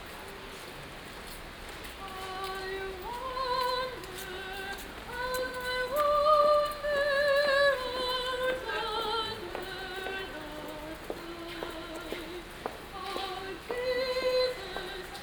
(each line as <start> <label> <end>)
1.2 steps 15.2
1.9 christmas singer 15.2